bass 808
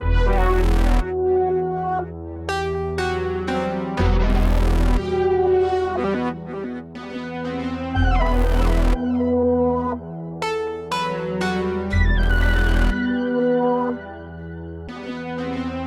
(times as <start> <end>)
0.0 1.1, 4.0 5.0